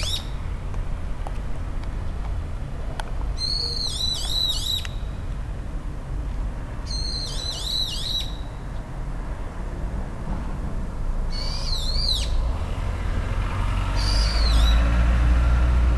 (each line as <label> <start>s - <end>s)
two birds chirping on a power wire 0.0s - 0.4s
a car 0.0s - 15.9s
two birds chirping on a power wire 3.4s - 5.2s
two birds chirping on a power wire 6.9s - 8.6s
two birds chirping on a power wire 11.3s - 12.4s
two birds chirping on a power wire 13.9s - 15.0s